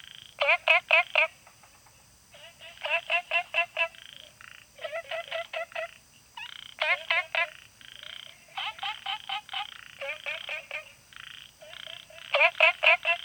Frogs chirping 0:00.0 - 0:13.2
Insects sounds 0:00.0 - 0:13.2

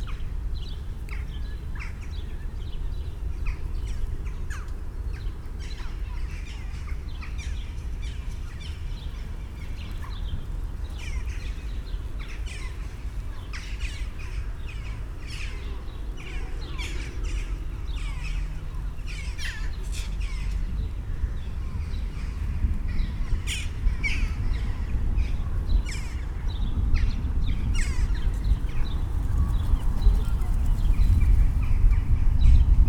birds 0:00.0 - 0:32.8

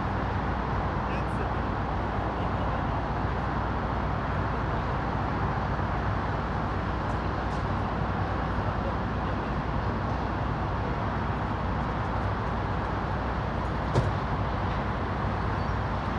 highway 0:00.0 - 0:16.1

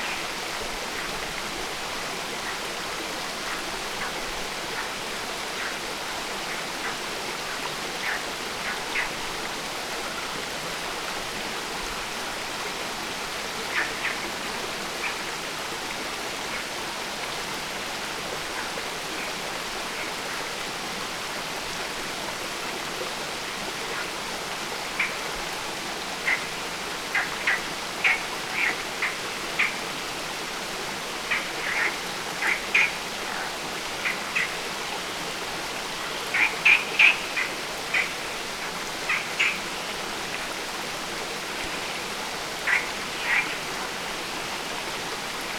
stream flow going in a very intricate way 0:00.0 - 0:45.5
croaking frogs 0:03.4 - 0:09.2
croaking frogs 0:13.6 - 0:15.4
croaking frogs 0:24.8 - 0:25.4
croaking frogs 0:26.0 - 0:30.1
croaking frogs 0:31.1 - 0:40.6
croaking frogs 0:41.4 - 0:44.8

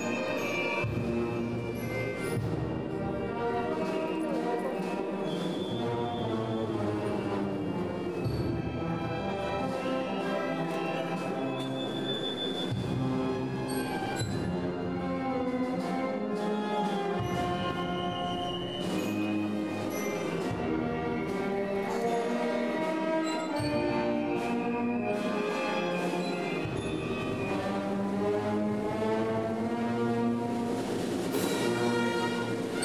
Maria procession 0:00.0 - 0:32.8

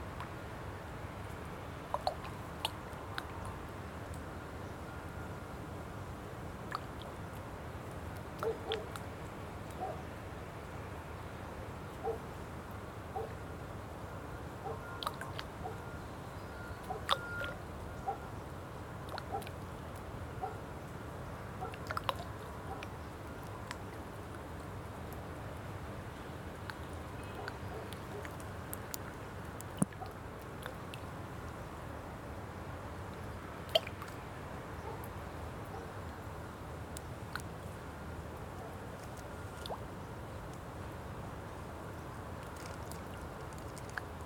Water 0:00.0 - 0:44.2
Dog barking in distance 0:12.0 - 0:12.2
Dog barking in distance 0:18.0 - 0:18.3
Dog barking in distance 0:20.4 - 0:20.6

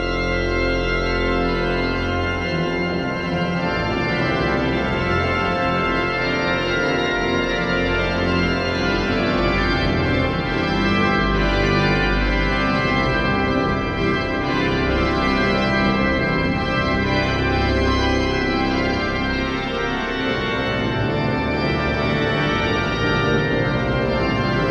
Organ concert 0:00.0 - 0:24.7

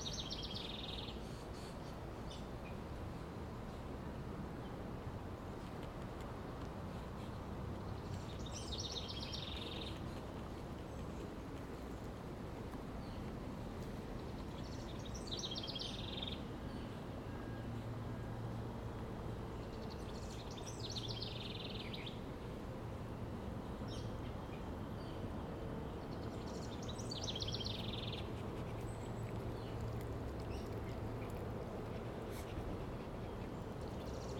city traffic 0:00.0 - 0:34.3
dog panting 0:28.2 - 0:34.3

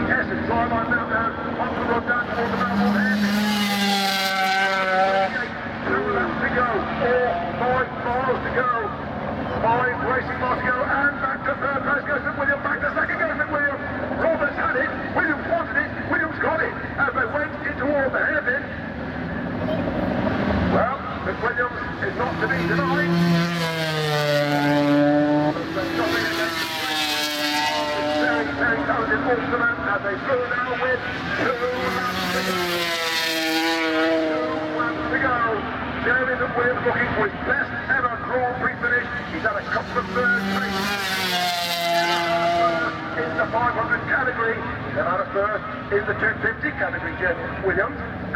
500cc motorcycle race 0:00.0 - 0:48.3

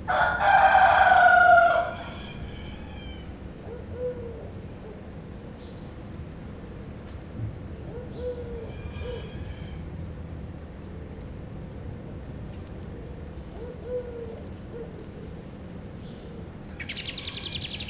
pigeons hooting in the background 0:00.0 - 0:10.0
rooster call 0:00.1 - 0:03.4
rooster call 0:08.3 - 0:09.9
pigeons hooting in the background 0:12.8 - 0:17.8

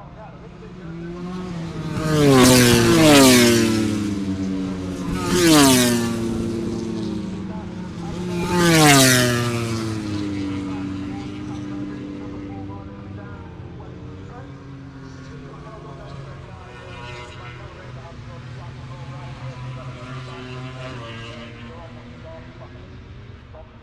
motorcycle grand prix 0:00.0 - 0:23.8

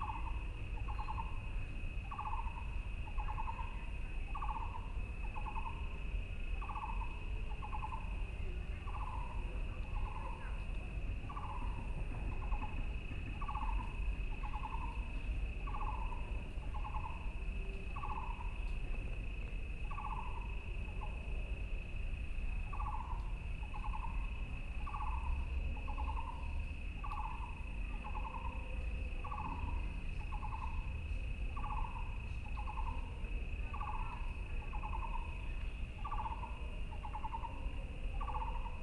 Frogs sound 0:00.0 - 0:18.6
Insects sound 0:00.0 - 0:38.8
Frogs sound 0:19.7 - 0:38.8

